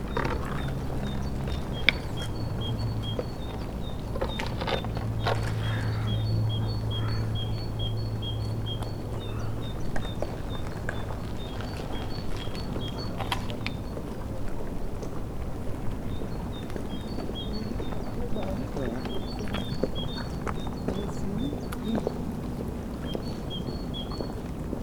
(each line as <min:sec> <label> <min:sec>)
0:00.0 cracking ice-sheets 0:06.0
0:00.0 voices of promenaders 0:08.4
0:16.7 voices of promenaders 0:24.0